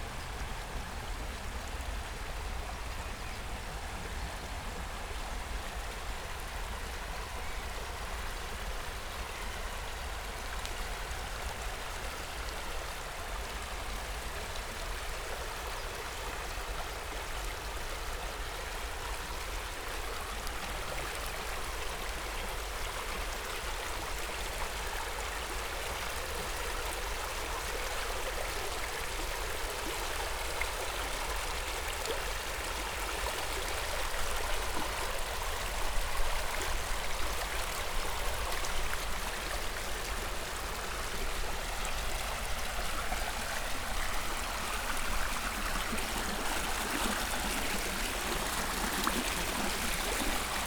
water flow of river Wuhle 0:00.0 - 0:50.6

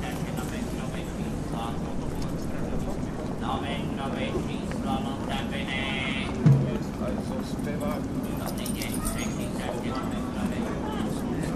street vendor of all kinds of newspapers 0:00.0 - 0:11.5

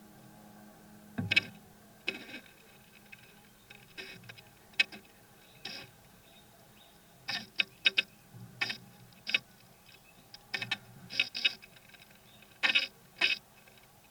Beetles coming and going to their nest in the woodwork 0:01.2 - 0:14.1

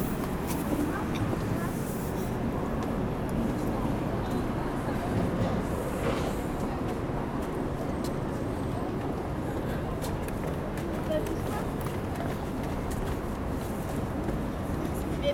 train is arriving 0:00.0 - 0:10.0
people is going inside 0:00.0 - 0:15.3

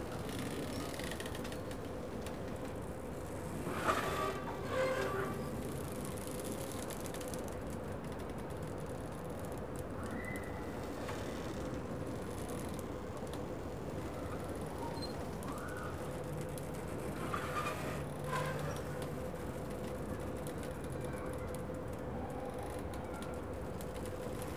Boats pulling at their moorings, squeaking, creaking, and squealing 0:00.2 - 0:01.3
Boats pulling at their moorings, squeaking, creaking, and squealing 0:03.0 - 0:06.8
Boats pulling at their moorings, squeaking, creaking, and squealing 0:14.0 - 0:21.1

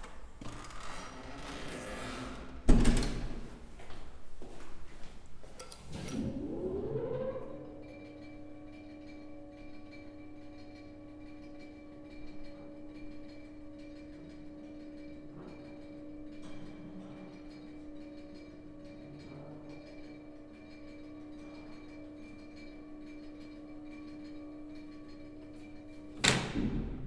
Elevator Sound 0:00.0 - 0:27.0

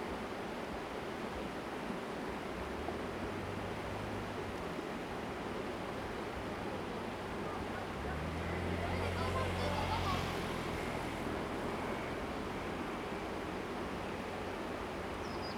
stream sound 0:00.0 - 0:15.5

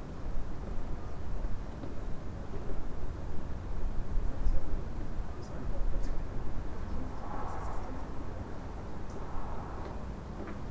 night traffic 0:06.6 - 0:10.7

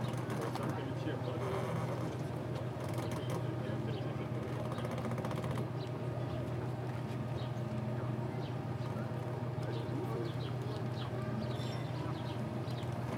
wooden boats crackling 0:00.0 - 0:03.6

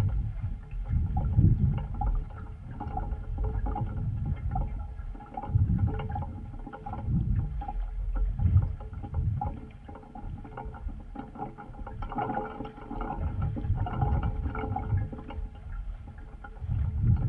pipe dipped in water 0:00.0 - 0:17.2

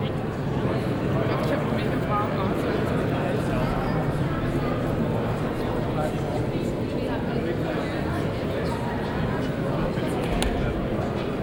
people 0:00.0 - 0:11.4

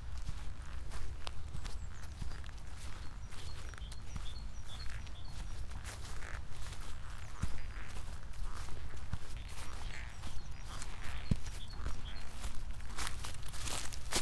walking 0:12.9 - 0:14.2

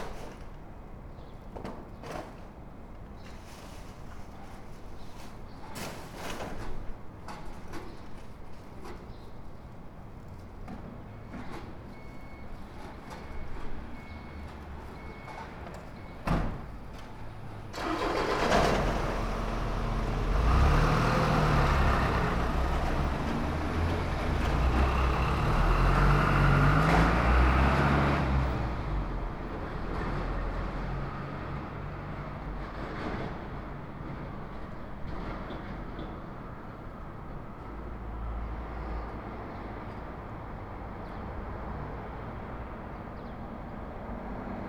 small restaurants owners cleaning the street 0:00.0 - 0:01.0
small restaurants owners cleaning the street 0:01.8 - 0:09.5
delivery trucks passing 0:10.7 - 0:40.8
small restaurants owners cleaning the street 0:17.7 - 0:29.0

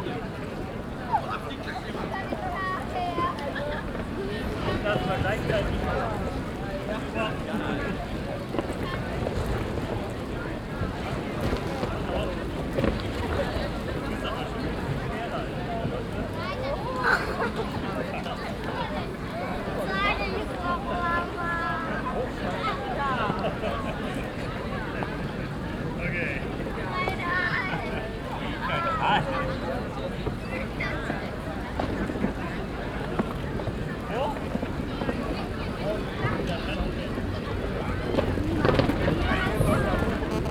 people walking and talking 0:00.0 - 0:40.5
distorton signals by mobile phones 0:39.9 - 0:40.5

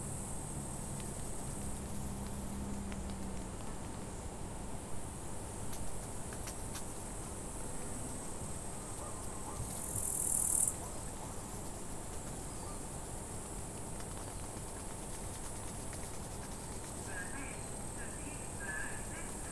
Insects 0:00.0 - 0:19.5
birds 0:17.0 - 0:19.5
voice 0:17.1 - 0:19.5

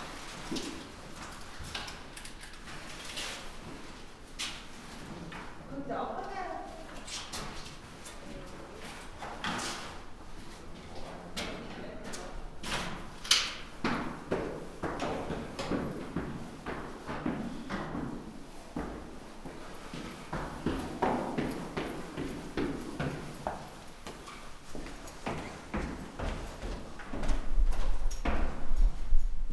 tenants and hotel guests walking up and down the stairs 0:00.0 - 0:29.5

